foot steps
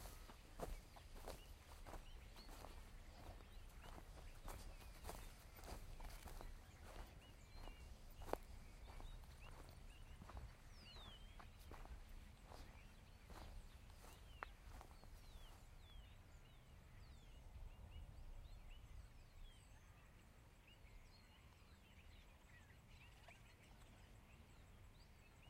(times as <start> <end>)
0.0 10.6